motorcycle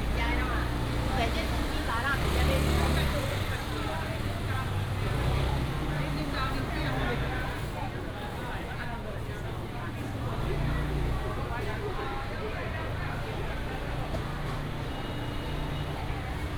0:00.0 0:08.4

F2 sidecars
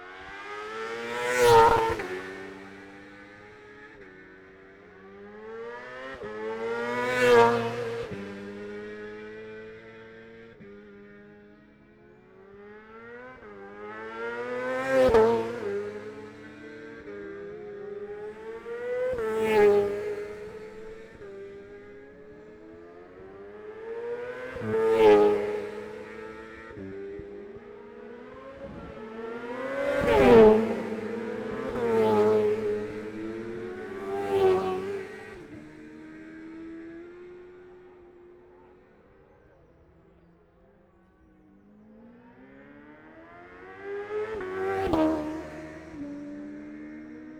0:24.4 0:37.4

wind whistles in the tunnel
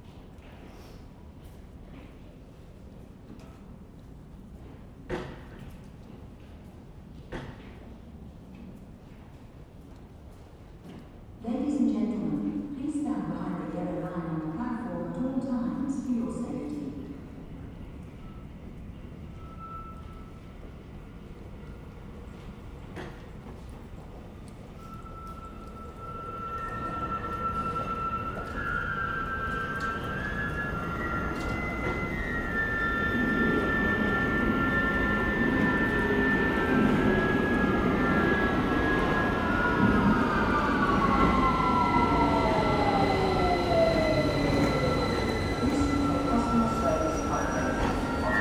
0:16.9 0:48.4

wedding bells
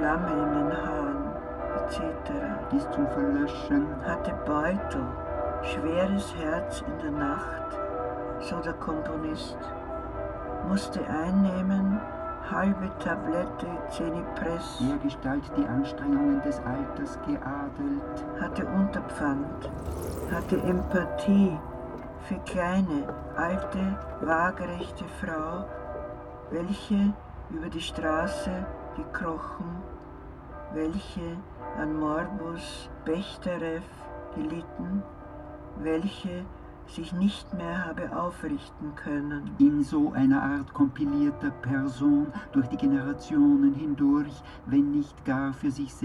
0:00.3 0:27.2

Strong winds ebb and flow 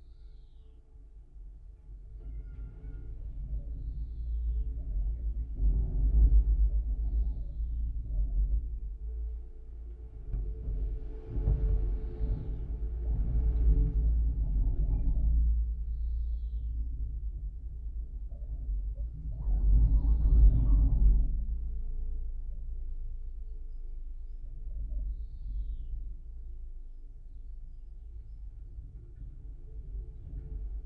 0:02.6 0:21.9

